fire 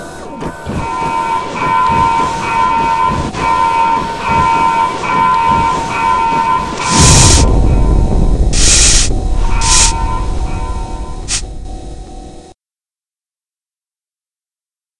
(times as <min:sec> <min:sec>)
0:00.7 0:11.6